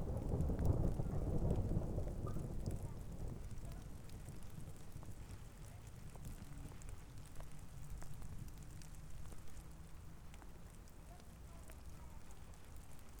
Thunder 0.0 - 3.6

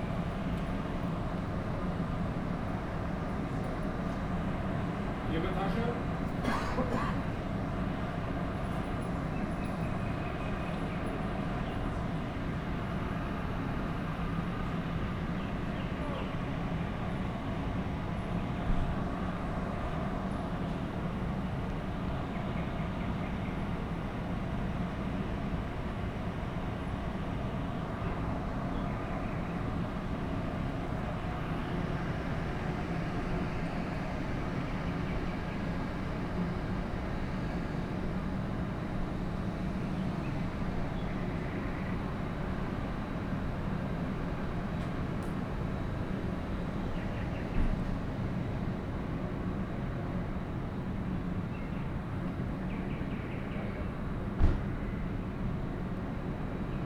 suburb trains arrive and depart 0.0 - 56.8
freight train rushes through 23.9 - 52.5

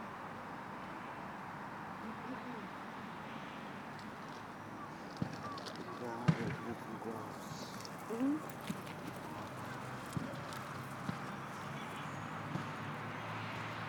Traffic 0.0 - 13.8
voices 5.2 - 13.7

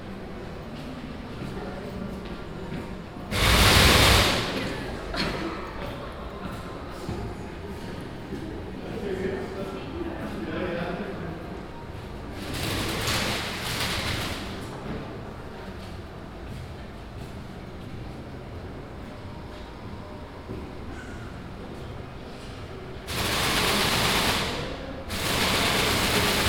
plastic bag motor installation 3.3 - 4.6

